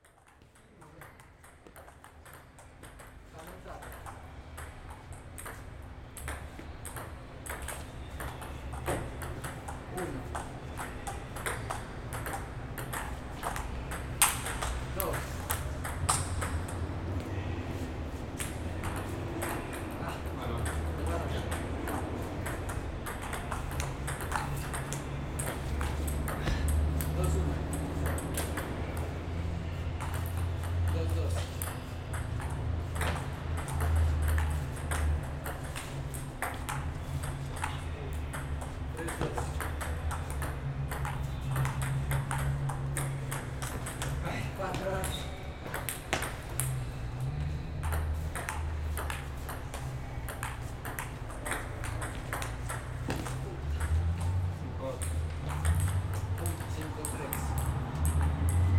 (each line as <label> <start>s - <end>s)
pelotas de Ping Pong 0.0s - 58.7s
pitos de vehículos 0.0s - 58.7s
vehículos transitando 5.6s - 58.7s